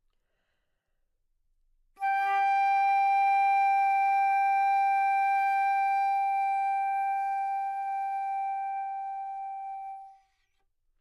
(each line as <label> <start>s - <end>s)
Flute 2.0s - 10.6s